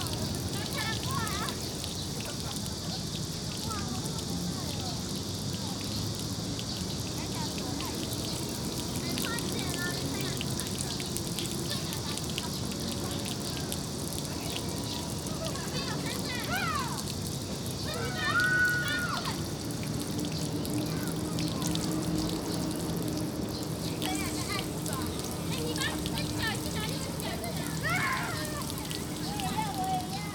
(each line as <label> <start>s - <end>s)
Children 0.0s - 30.3s
running water 0.0s - 30.3s